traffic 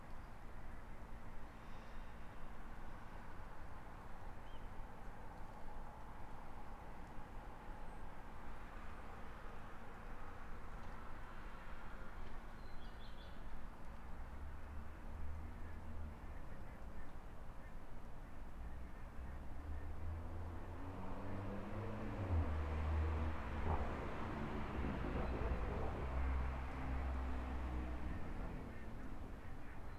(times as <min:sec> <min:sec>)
0:13.8 0:29.9